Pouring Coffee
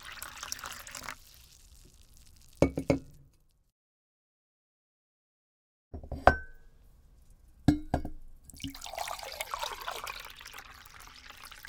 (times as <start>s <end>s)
0.0s 3.5s, 8.5s 11.6s